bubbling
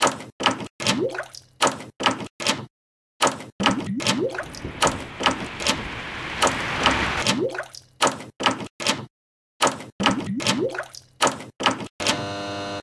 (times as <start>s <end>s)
4.2s 7.3s